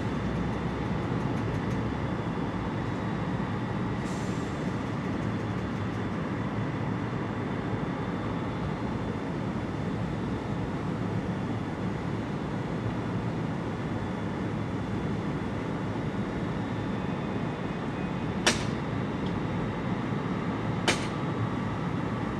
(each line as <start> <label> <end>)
17.4 Resting Trains 19.6
20.8 Resting Trains 21.3